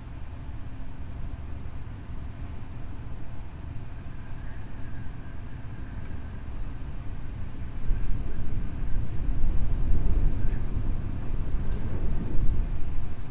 0.0s air conditioning system is running 13.3s
0.0s wind 13.3s

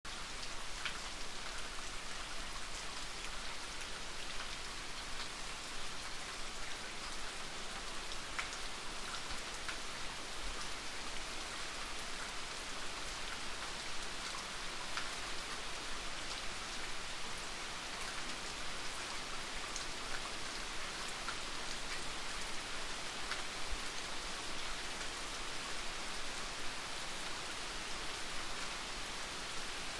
0.0s rain 29.9s

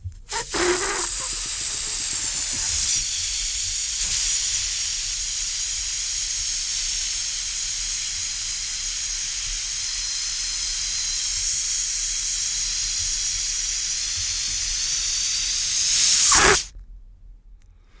0.3s Balloon - Deflate 01 3.2s
14.5s Balloon - Deflate 01 16.7s

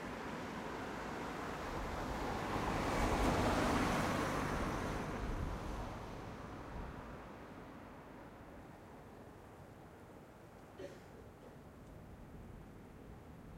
0.0s cars 8.5s

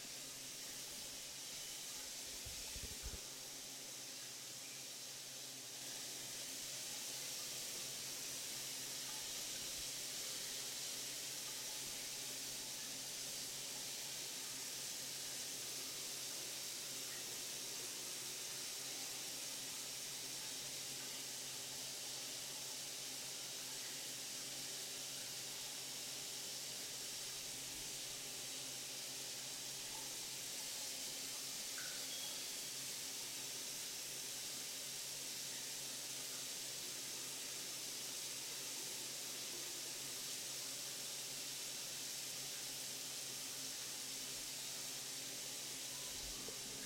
0.0s water faucet bathroom flow 46.8s
26.6s drain 46.8s

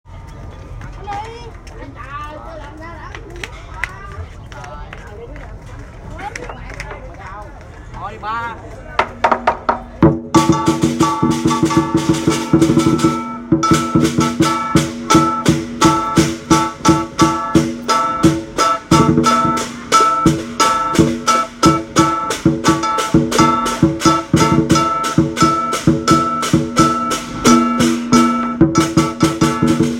0.7s Kids talk 7.6s
9.0s music 29.9s

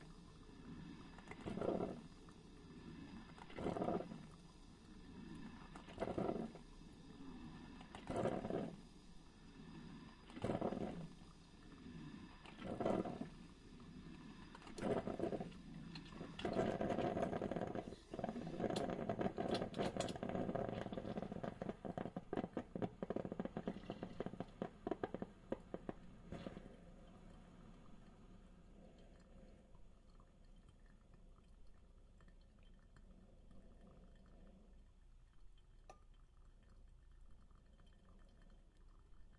1.2s Brewing coffee 2.2s
3.3s Brewing coffee 4.4s
5.6s Brewing coffee 6.7s
7.8s Brewing coffee 9.2s
10.2s Brewing coffee 11.2s
12.4s Brewing coffee 13.4s
14.5s Brewing coffee 28.2s
29.0s Brewing coffee 39.3s

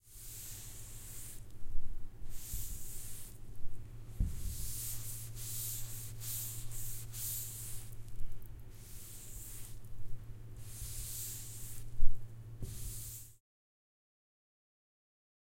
2.3s washing blackboard 3.4s
4.2s washing blackboard 8.0s
8.7s washing blackboard 9.8s
10.6s washing blackboard 12.0s
12.6s washing blackboard 13.4s

